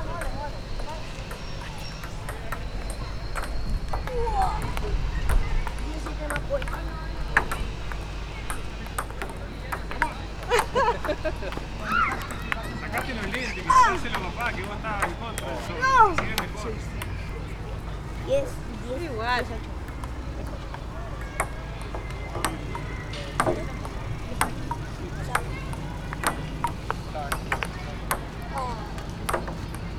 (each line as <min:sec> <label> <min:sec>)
0:00.0 PingPong 0:17.6
0:00.0 Humans Voices 0:29.9
0:18.8 PingPong 0:29.9